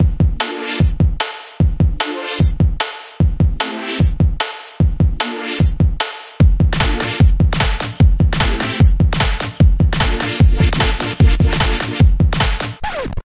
Short Hip-Hop Song 0.0 - 13.1

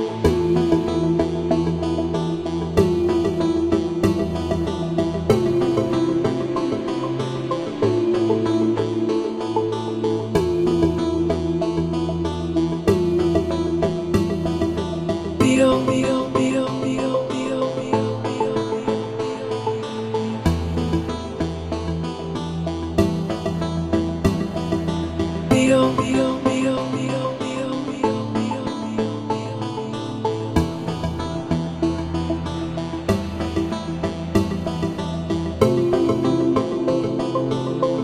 synth 0.0 - 38.0
voice 15.4 - 18.4
voice 25.5 - 29.0

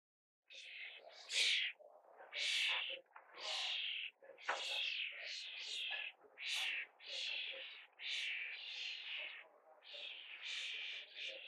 Baby Starlings being fed 0.5 - 11.4

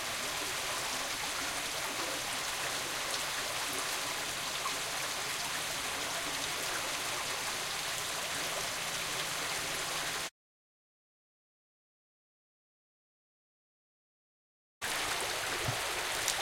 small stream running 0.0 - 10.3
small stream running 14.8 - 16.4

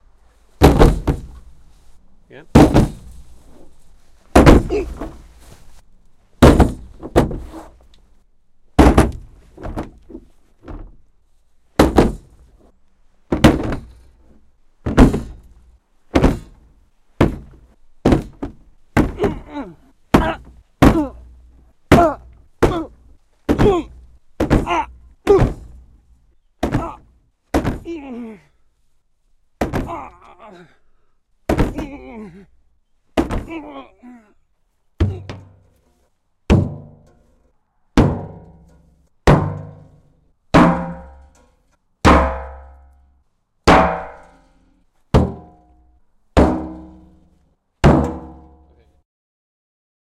hitting a car bonnet various 0.6 - 1.6
hitting a car bonnet various 2.5 - 5.6
hitting a car bonnet various 6.4 - 7.9
hitting a car bonnet various 8.7 - 11.1
hitting a car bonnet various 11.8 - 12.7
hitting a car bonnet various 13.3 - 28.1
hitting a car bonnet various 29.6 - 30.3
hitting a car bonnet various 31.4 - 32.2
hitting a car bonnet various 33.1 - 33.7
hitting a car bonnet various 35.0 - 35.9
hitting a car bonnet various 36.5 - 37.4
hitting a car bonnet various 38.0 - 48.8

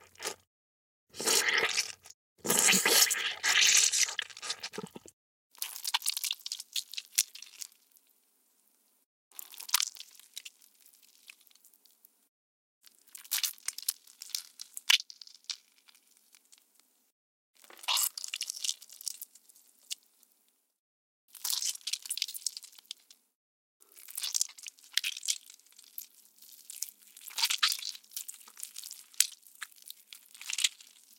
squelch 1.1 - 5.1

